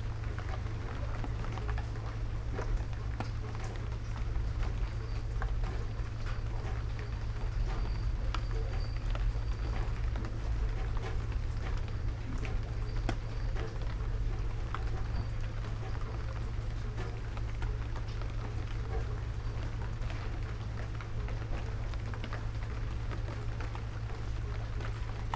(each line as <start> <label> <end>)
0.0 rain 25.3